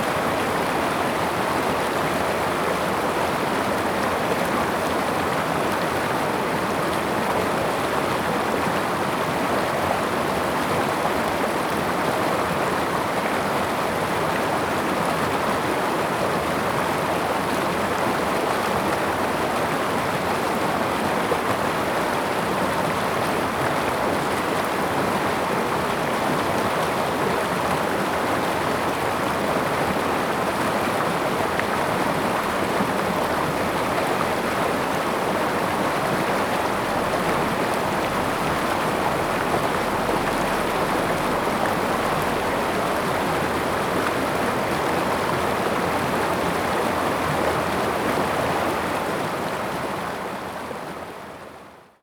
Brook 0.0 - 52.0

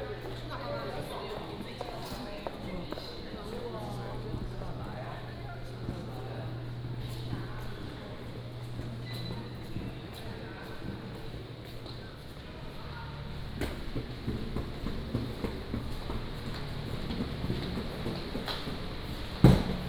Many tourists 0.0 - 18.8

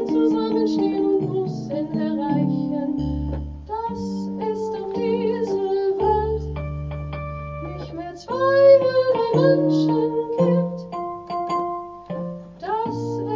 singer 0.0 - 6.6
singer 7.6 - 10.9
singer 12.6 - 13.3

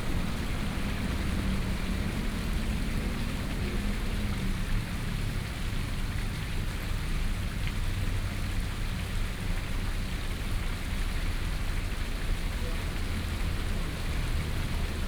Small stream pool 0.0 - 15.0

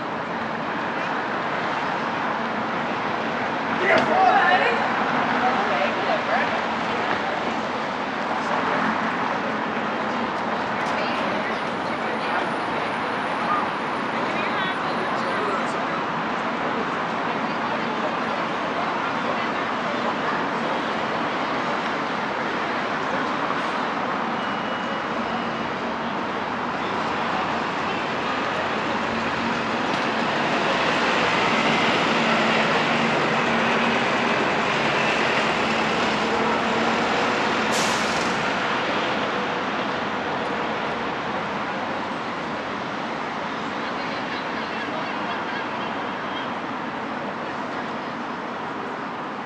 buses passing on their route 0.0 - 49.4
chatter from pedestrians 0.0 - 49.4
teenagers shouting 3.8 - 6.3

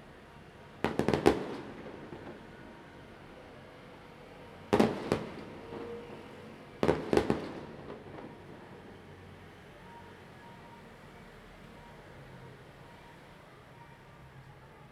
Firecrackers 0.7 - 3.4
Fireworks 0.8 - 3.1
Firecrackers 4.7 - 9.1
Fireworks 4.7 - 9.1

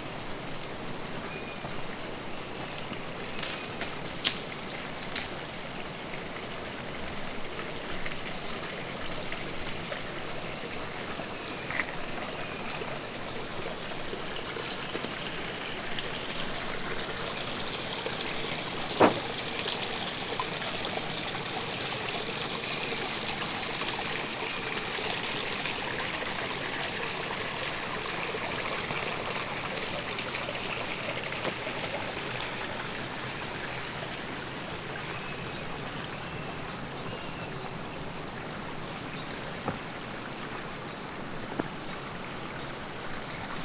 brook 0.0 - 43.6
crossing 2 small wooden bridges 16.6 - 19.9

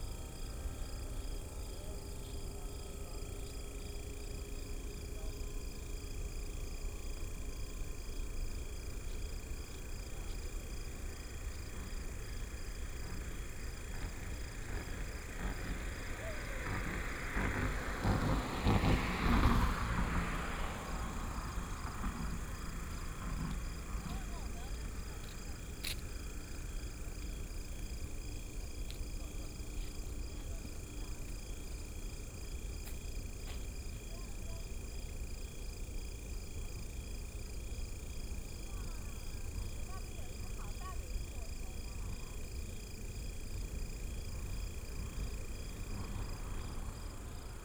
Insects sound 0.0 - 47.6
Traffic sound 8.1 - 47.6

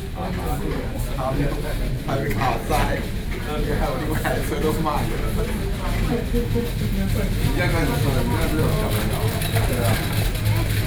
conversation 0.0 - 10.8

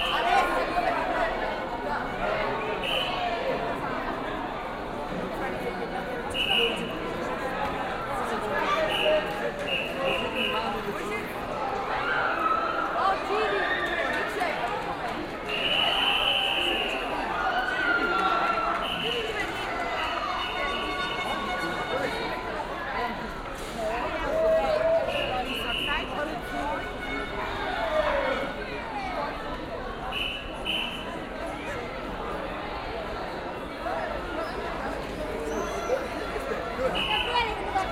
Signalhorns 20.2 - 22.4
Signalhorns 30.1 - 31.2

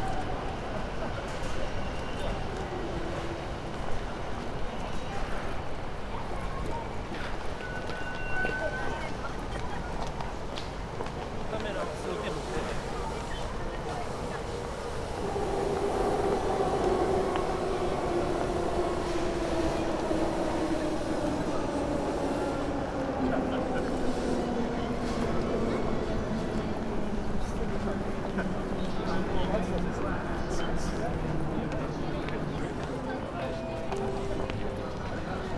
people walking out of the station 0.0 - 35.5
trains swishing above 10.2 - 35.5

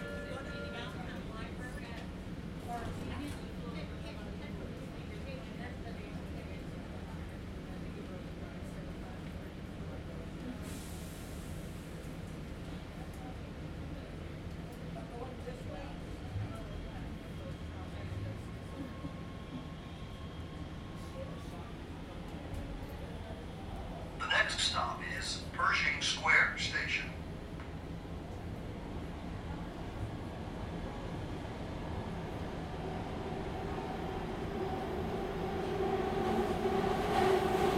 few passengers 0.0 - 37.7
underground train ride 0.0 - 37.7
announcements 24.1 - 27.3

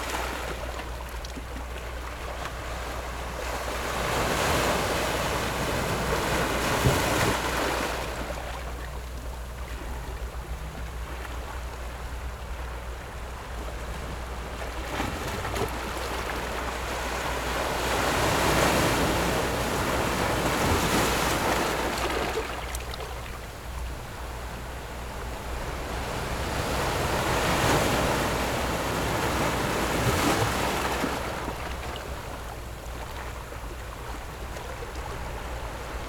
Rocks and waves 0.0 - 12.4
boats on the distant sea 0.0 - 36.0
Rocks and waves 13.0 - 36.0

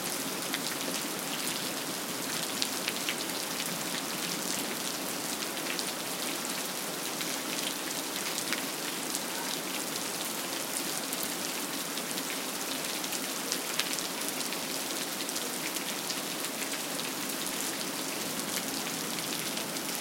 Rain 0.0 - 20.0

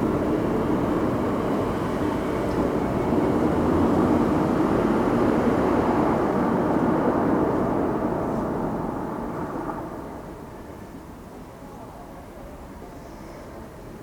cars 0.0 - 11.2
local people passing by 0.0 - 14.0

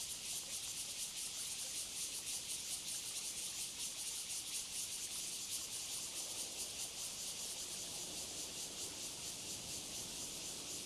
Cicadas 0.0 - 10.8

